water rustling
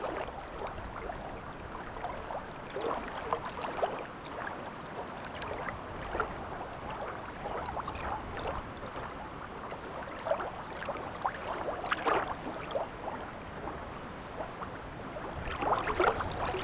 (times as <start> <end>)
15.2 16.6